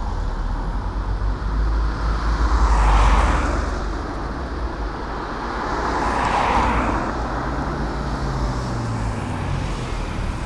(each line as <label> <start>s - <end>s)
traffic noises 0.0s - 10.4s